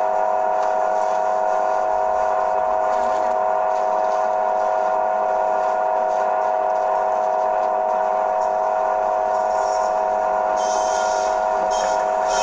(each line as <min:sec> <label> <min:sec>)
0:09.3 internal noises of a parking meter 0:12.4